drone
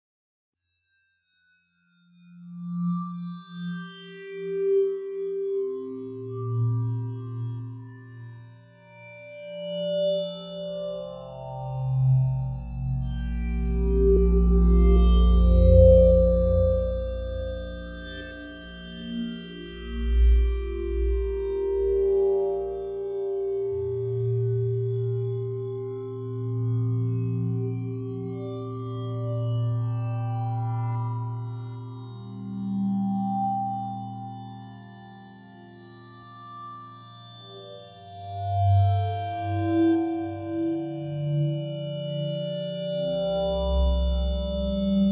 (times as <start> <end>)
3.4 35.7